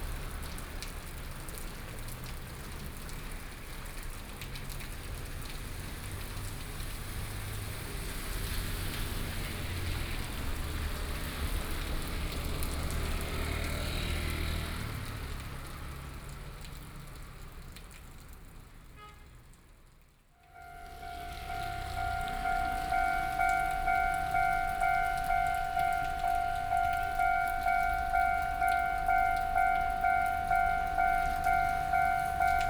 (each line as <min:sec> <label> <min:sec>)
0:00.0 traffic sounds 0:16.6
0:20.4 Train traveling through 0:32.6
0:20.4 traffic sounds 0:32.6